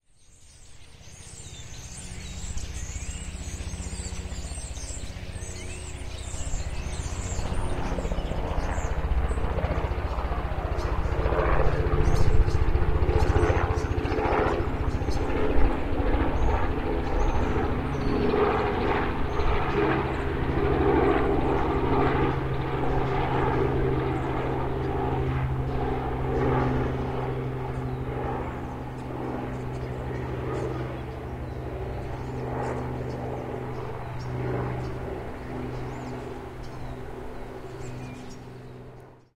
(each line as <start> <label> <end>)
0.1 helicopter in the distance 39.3
0.2 birds chirping 39.3